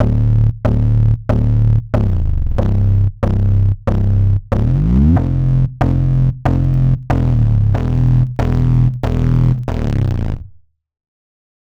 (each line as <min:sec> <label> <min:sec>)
0:00.0 bass 0:10.7